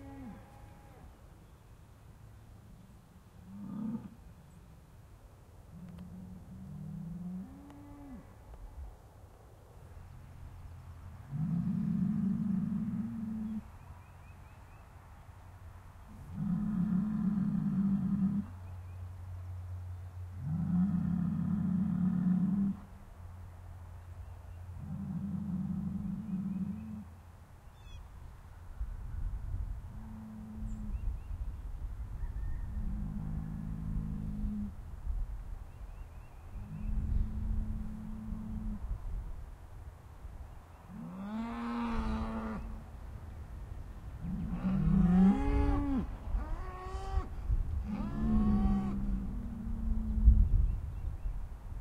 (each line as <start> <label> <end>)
0.0 Mooing Cows 1.1
24.0 Birds 28.1
41.0 Mooing Cows 42.8
44.2 Mooing Cows 50.4